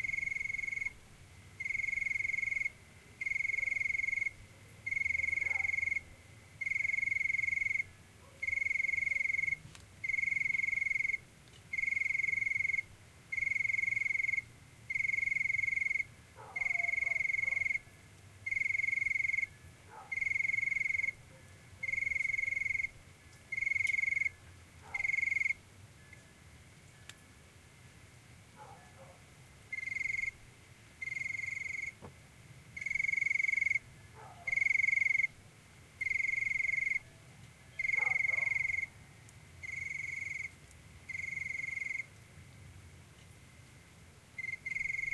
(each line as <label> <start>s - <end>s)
lonely cricket chirps softly 0.0s - 45.1s
Dog barkings in background 4.5s - 6.3s
Dog barkings in background 8.2s - 8.6s
Dog barkings in background 16.4s - 17.8s
Dog barkings in background 19.9s - 20.3s
Dog barkings in background 24.8s - 25.3s
Dog barkings in background 28.6s - 29.3s
Dog barkings in background 34.1s - 34.6s
Dog barkings in background 37.8s - 38.8s